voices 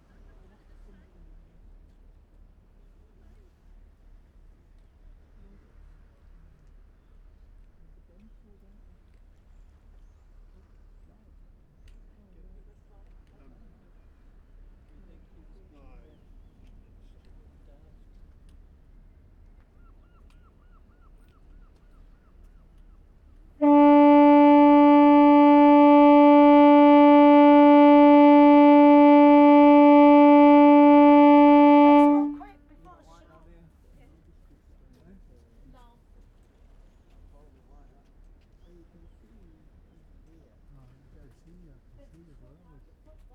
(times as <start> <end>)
23.6 32.7